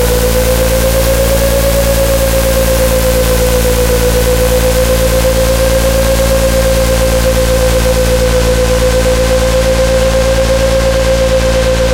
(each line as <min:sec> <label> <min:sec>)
0:00.0 Resonating evolving drone sound 0:11.9